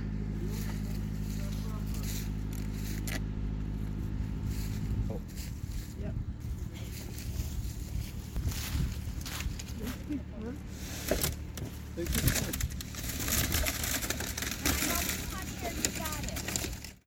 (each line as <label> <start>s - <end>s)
tree wrapper 0.0s - 17.0s